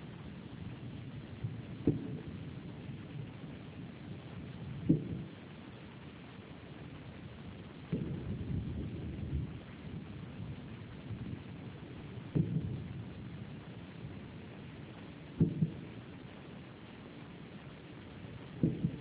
0.7s thunderstorm 3.3s
4.6s thunderstorm 5.4s
7.9s thunderstorm 14.3s
18.6s thunderstorm 19.0s

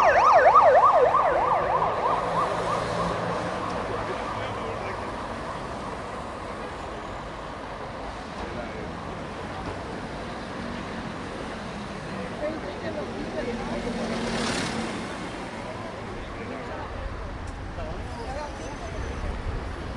0.0s ambulance 14.4s
0.0s cars 19.9s
3.7s people talking 7.2s
12.1s people talking 14.5s

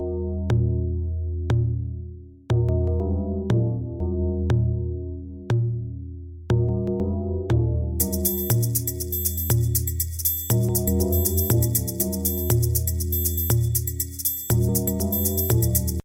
8.0s church beats 16.0s

